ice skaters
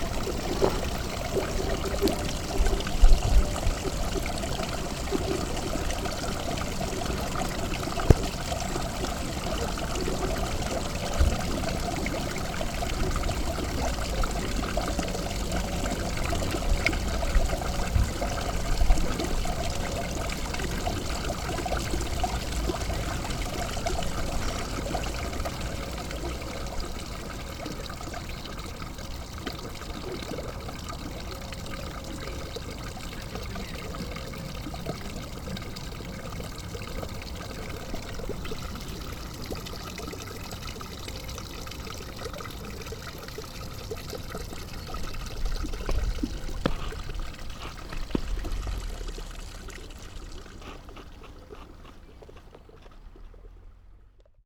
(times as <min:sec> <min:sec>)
0:46.6 0:53.8